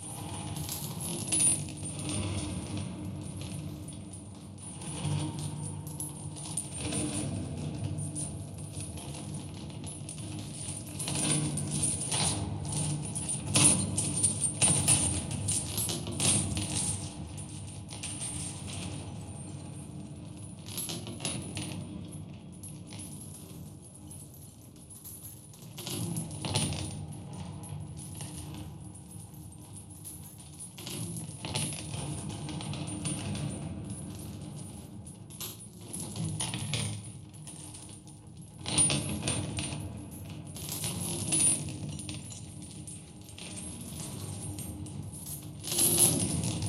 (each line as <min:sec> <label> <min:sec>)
0:00.0 long chains 0:46.6